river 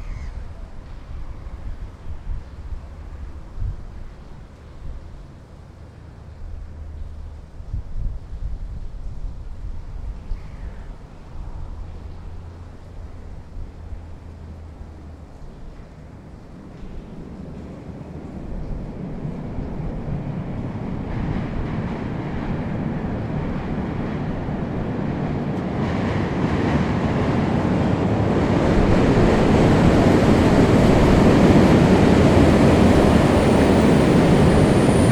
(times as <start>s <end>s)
0.0s 25.6s